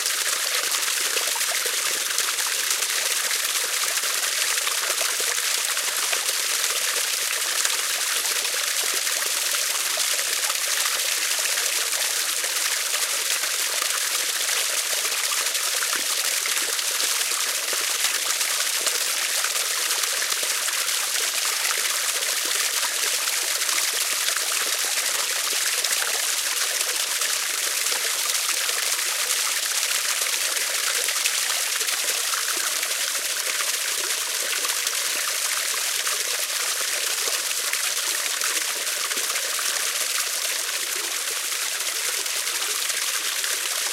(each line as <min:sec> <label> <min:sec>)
0:00.0 Running water coming out of the forest 0:43.9